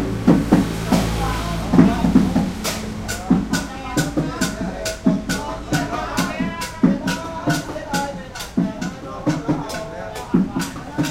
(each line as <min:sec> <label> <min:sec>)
0:00.0 drumming 0:11.1
0:00.8 singing 0:11.1